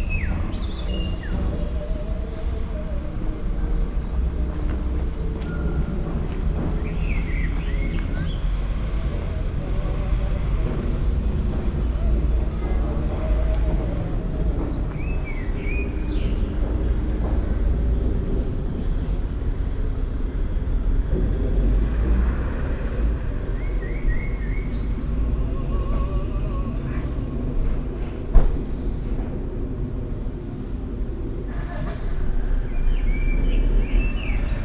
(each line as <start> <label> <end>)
0.0 singing bird 28.0
0.0 pedestrians passing by 34.6